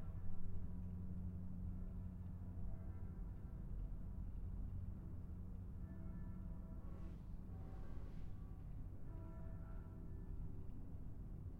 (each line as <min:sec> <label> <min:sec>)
0:08.5 bells of the nearby church 0:11.0